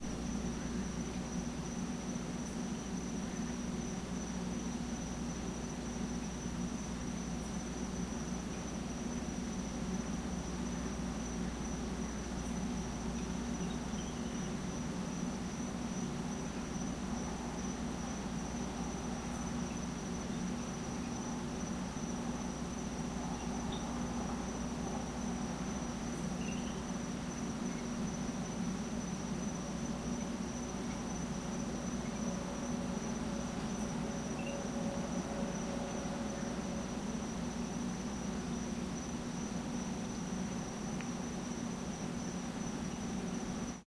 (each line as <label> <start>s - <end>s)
frog 0.0s - 43.8s